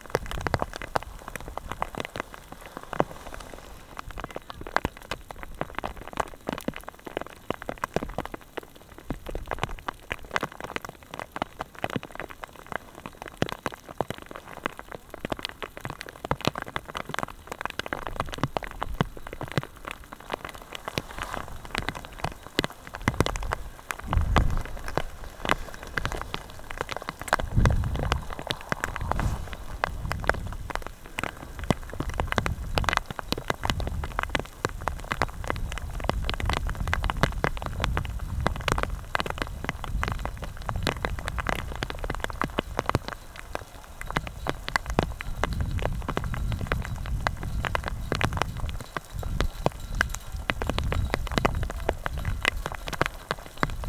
Popcorn hail 0:00.0 - 0:53.8

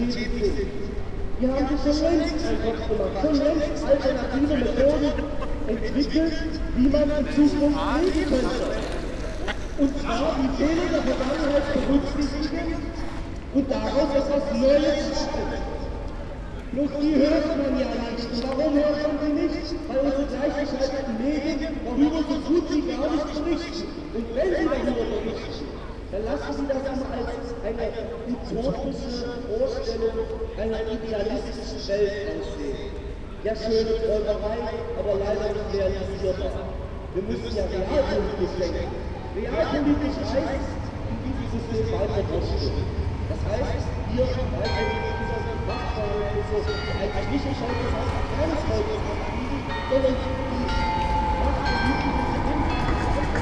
Trams 0:00.0 - 0:26.2
their speeches 0:00.0 - 0:53.4
Trams 0:34.8 - 0:53.4

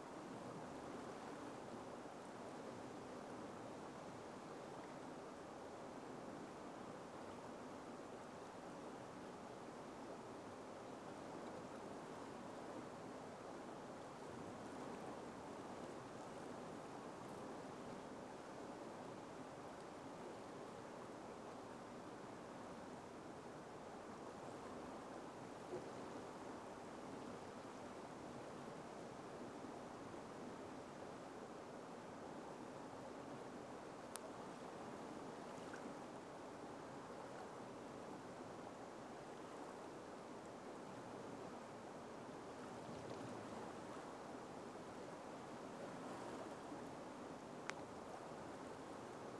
River Tyne as it flows under the bridge 0:00.1 - 0:49.3

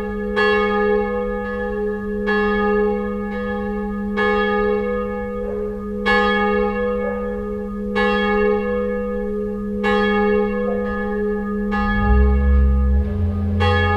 church bells 0:00.0 - 0:13.9

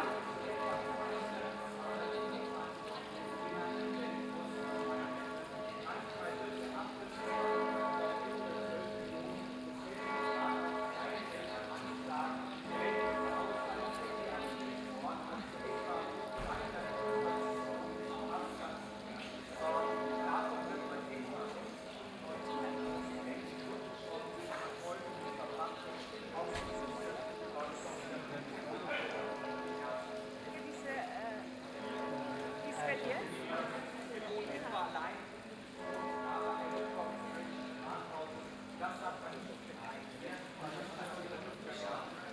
bells of the catholic church are calling for the evening mass 0:00.0 - 0:42.3
fountain of the Hühnermarkt is audible 0:00.0 - 0:42.3
Several voices from visitors 0:30.0 - 0:31.7

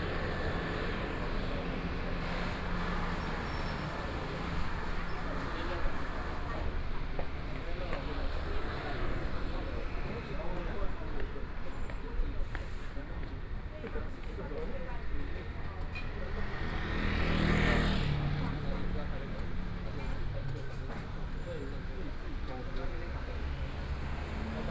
Traffic Sound 0:00.0 - 0:24.7

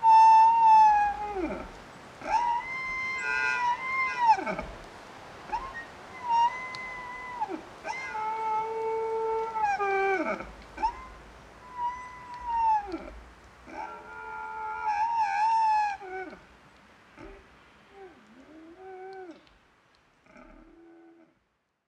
singing tree in a wind 0:00.0 - 0:21.3

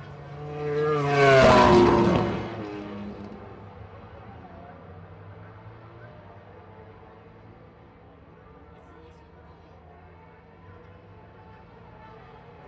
motorcycle grand prix 0:00.0 - 0:06.3

